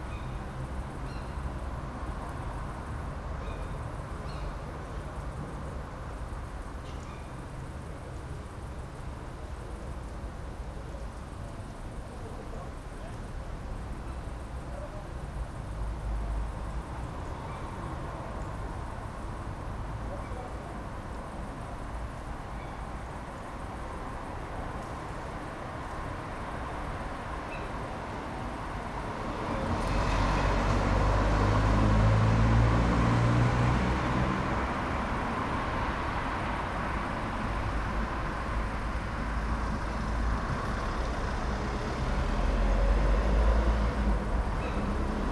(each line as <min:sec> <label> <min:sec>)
0:00.0 traffic 0:45.3
0:00.0 night crickets 0:45.3